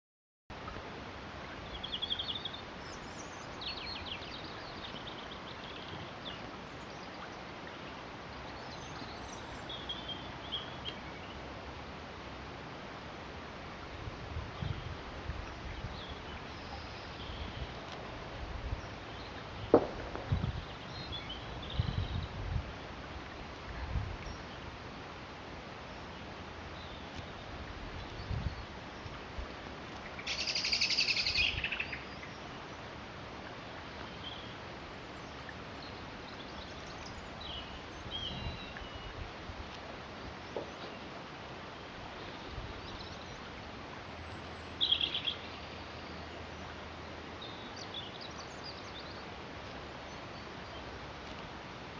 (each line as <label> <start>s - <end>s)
brook 0.5s - 51.9s
robin song 30.1s - 32.5s